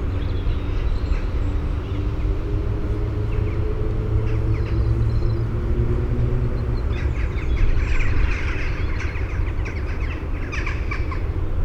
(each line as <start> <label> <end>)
0.0 traffic noise 11.6